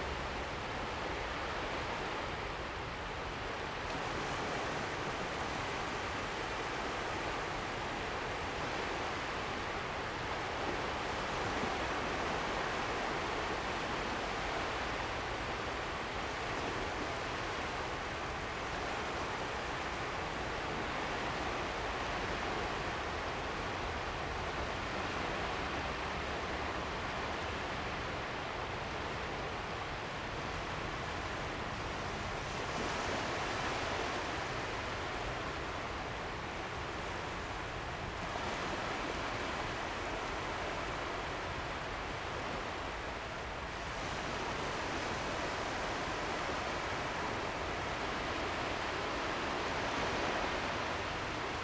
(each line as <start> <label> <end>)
0.0 Waves 51.6